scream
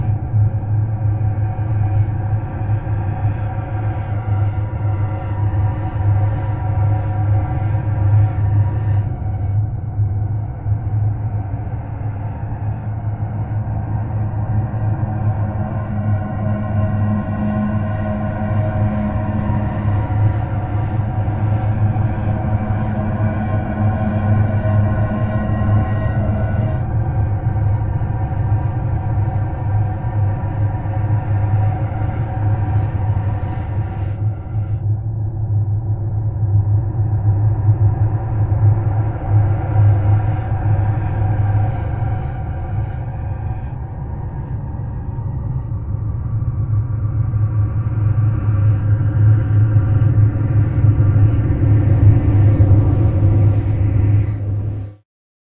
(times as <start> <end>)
11.3 34.8